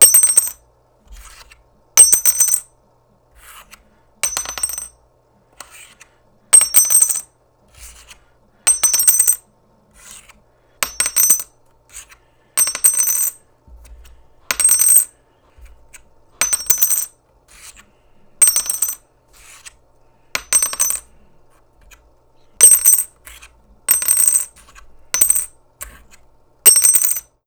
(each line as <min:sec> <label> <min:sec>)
0:26.7 tin metal bell dropping 0:27.3